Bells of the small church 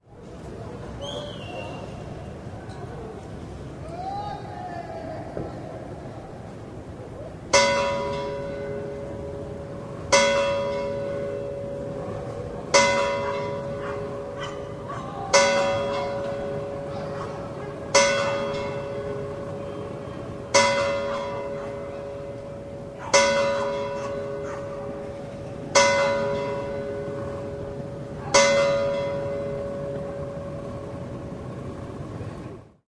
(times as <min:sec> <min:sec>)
0:07.5 0:32.0